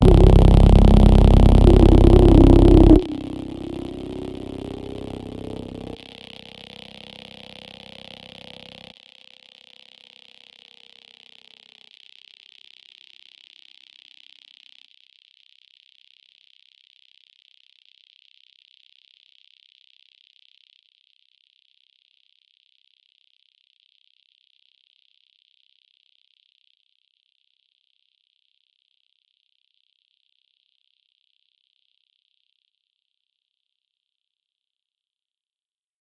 SHARP HARMONIC SWEEP with fading high pass 0.0 - 8.8

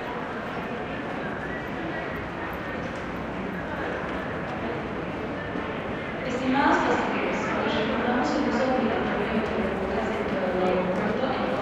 crowd 0.0 - 11.6

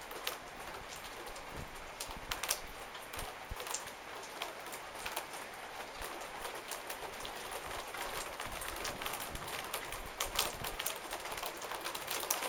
Rainfall on a wooden veranda 0.0 - 12.4

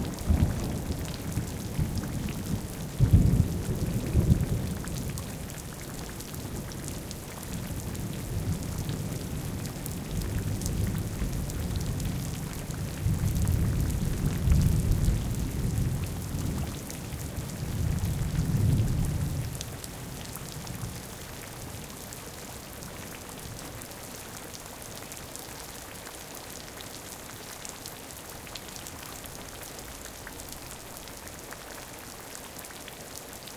Rain recording that was done underneath a corrugated iron roof 0.0 - 33.5
thunder 0.0 - 5.2

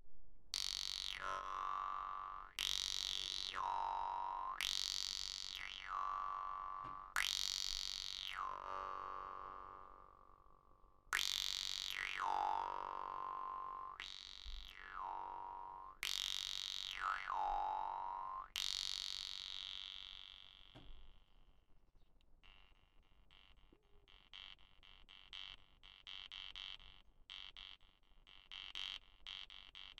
Vargan solo 0.6 - 20.8

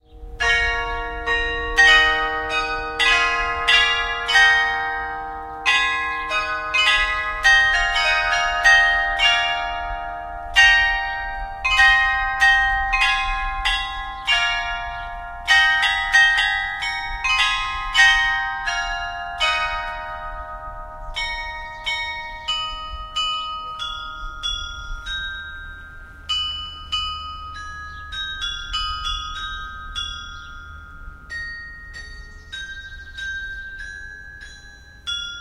churchbells 0.0 - 35.4
noise from the wind 0.0 - 35.4

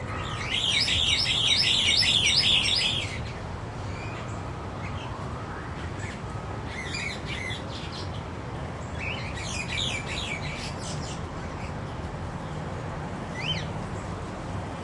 Calls from a small group of Scissor-billed Starlings 0.0 - 4.3

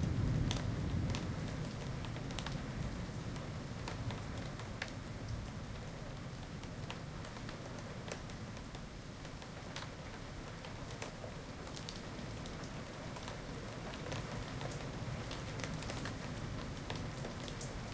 thunder 0.0 - 3.0
rain 0.0 - 17.9

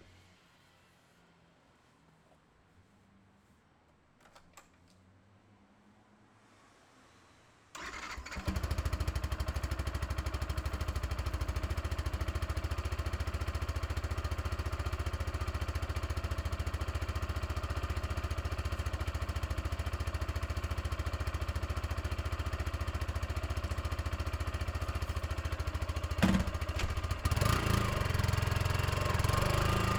Motorcycle 7.8 - 29.9

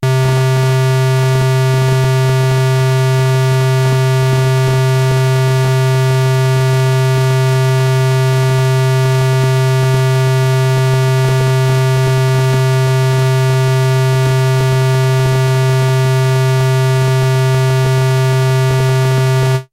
Basic Wave Sample - SQUARE C2 0.0 - 19.7

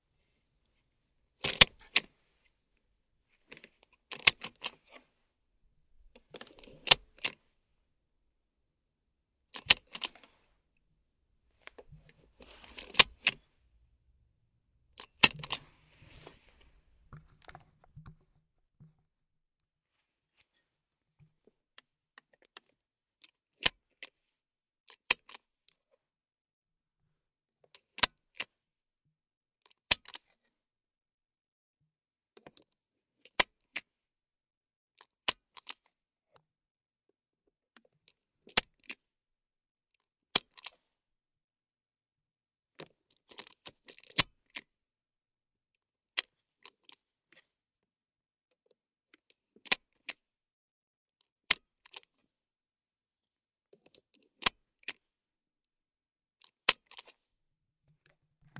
Car Seatbelt buckle and unbuckle 1.4 - 2.1
Car Seatbelt buckle and unbuckle 3.5 - 5.0
Car Seatbelt buckle and unbuckle 6.2 - 7.4
Car Seatbelt buckle and unbuckle 9.5 - 10.3
Car Seatbelt buckle and unbuckle 11.7 - 13.4
Car Seatbelt buckle and unbuckle 15.0 - 18.2

